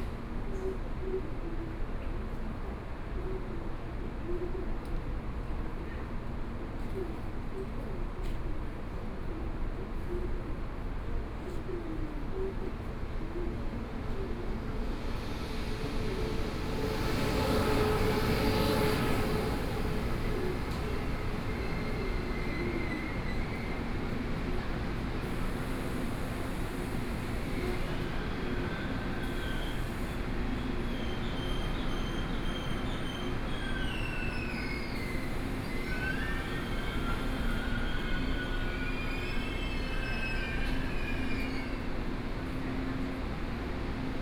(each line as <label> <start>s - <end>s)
Train arrived 4.9s - 44.2s
Train passes 12.4s - 44.2s